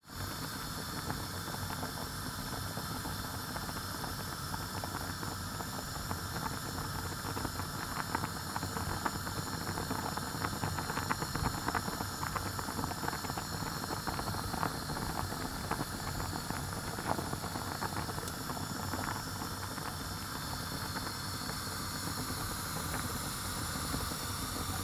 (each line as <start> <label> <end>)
0.0 pot of boiling water 24.8